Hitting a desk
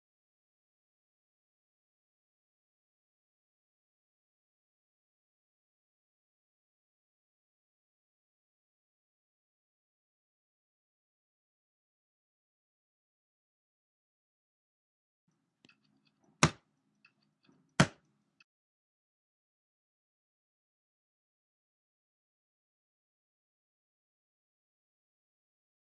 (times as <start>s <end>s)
17.8s 18.0s